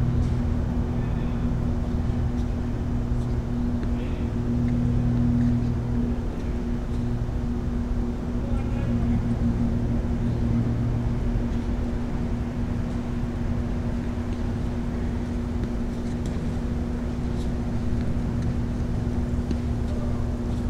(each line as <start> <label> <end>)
0.0 low hum emanates from the green electrical box 20.6
0.2 Tennis games 7.8
12.8 Tennis games 20.6